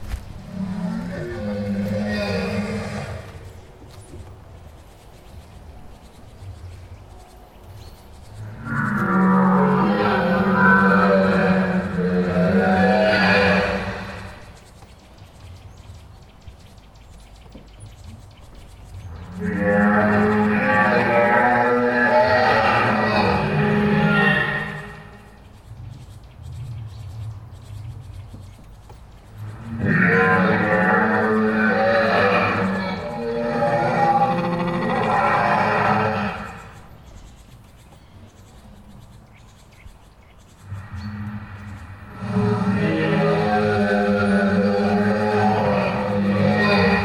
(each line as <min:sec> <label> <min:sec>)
0:40.5 dinosaurus ... they wave tails, blink eyes, breathe 0:47.0